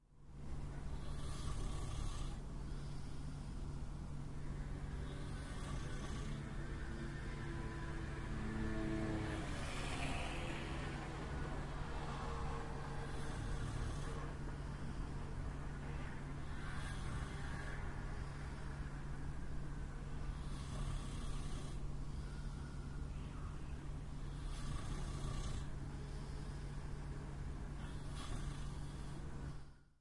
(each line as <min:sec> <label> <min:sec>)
0:00.0 usual urban noise 0:30.0
0:00.9 breath 0:04.0
0:06.3 scooter is passing through the street 0:13.9
0:20.3 breath 0:23.5
0:24.3 breath 0:29.9